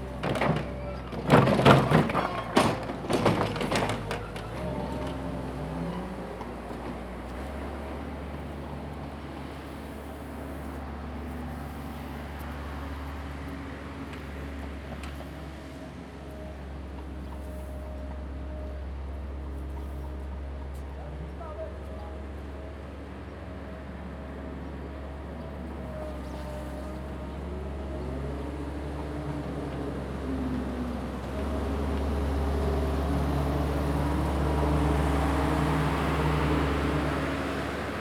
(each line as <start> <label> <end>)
0.0 Construction Sound 12.4